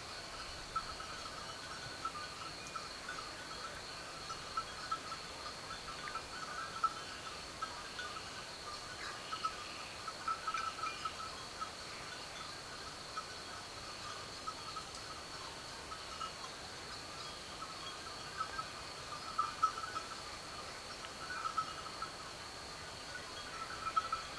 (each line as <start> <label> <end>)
0.0 wind through trees 24.3